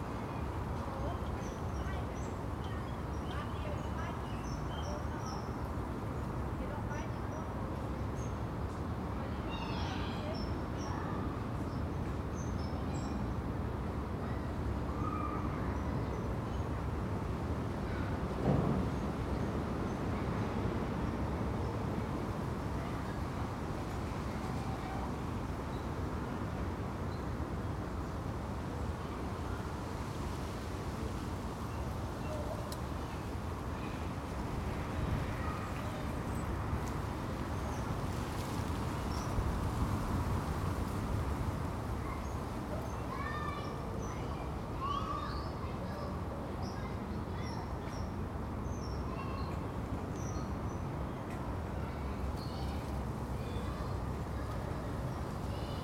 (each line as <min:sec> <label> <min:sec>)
0:09.1 playtime at the nearby school 0:27.2
0:15.4 people pass 0:55.8
0:29.2 playtime at the nearby school 0:55.8